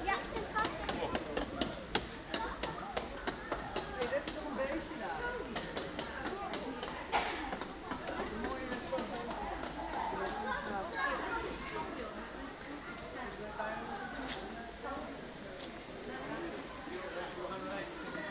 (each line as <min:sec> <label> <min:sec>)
0:00.0 visitors around me 0:18.3